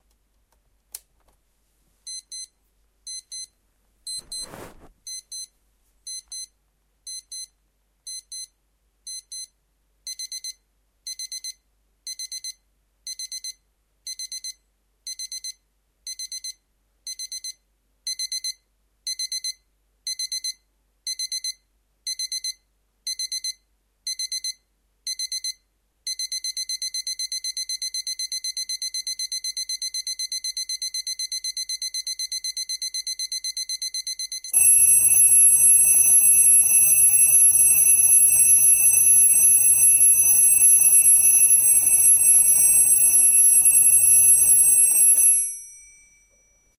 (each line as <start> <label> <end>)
10.1 alarm 46.7